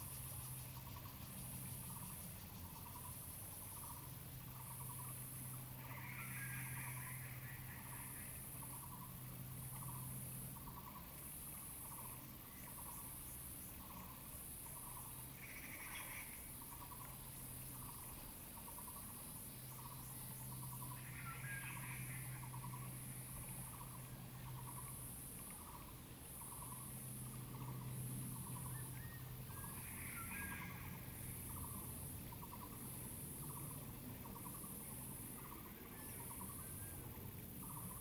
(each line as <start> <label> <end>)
20.8 Several kinds of birds sounded 23.0
27.6 Several kinds of birds sounded 32.7